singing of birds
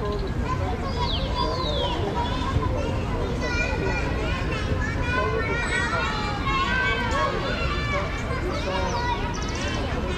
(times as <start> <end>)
0.0 2.5, 8.8 9.8